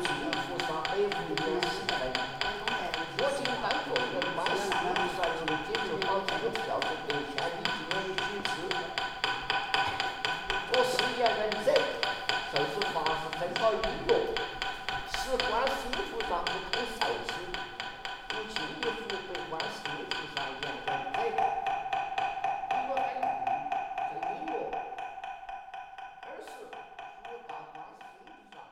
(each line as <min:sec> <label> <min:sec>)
0:00.0 monk is praying 0:09.1
0:10.0 monk is praying 0:17.7
0:18.3 monk is praying 0:21.6